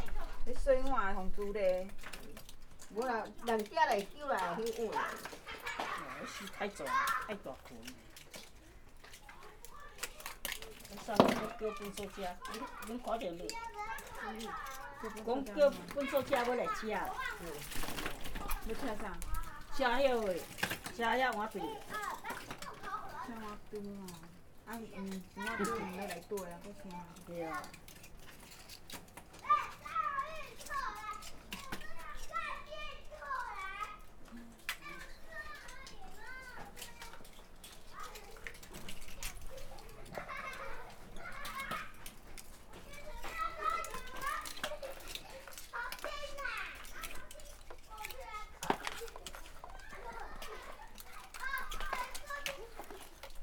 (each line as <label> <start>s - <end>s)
Children are playing 0.0s - 53.4s
old women are digging oysters 0.0s - 53.4s